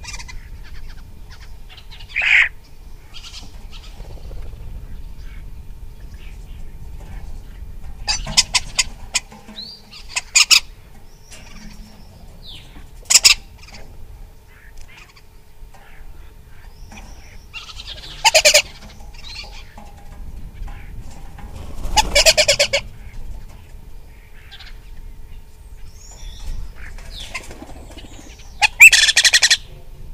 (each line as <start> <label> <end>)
0.0 Starling 29.8